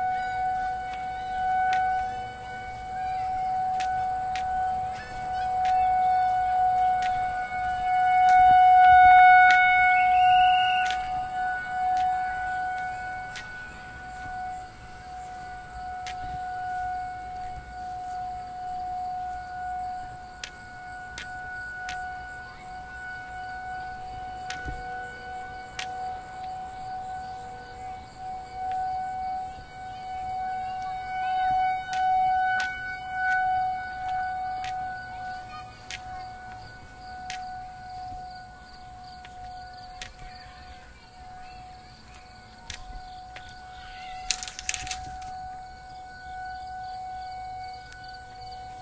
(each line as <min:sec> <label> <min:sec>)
0:00.0 Kids scream 0:21.6
0:00.0 big empty-sounding truck or school bus goes by 0:43.7
0:00.0 Kids playing 0:48.8
0:00.0 crickets 0:48.8
0:00.0 light wind 0:48.8
0:00.0 teacher blows a whistle 0:48.8
0:00.0 tornado siren test 0:48.8
0:00.0 traffic along brick streets 0:48.8
0:00.1 footsteps 0:26.7
0:28.9 Kids scream 0:38.2
0:30.8 footsteps 0:45.6
0:40.0 Kids scream 0:45.9
0:43.4 kid yells tornado 0:45.0